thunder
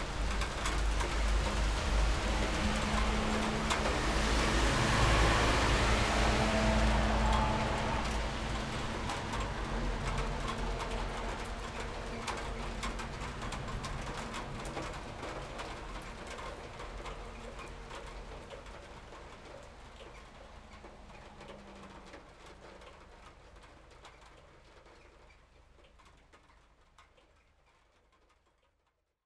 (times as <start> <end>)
0.0 17.4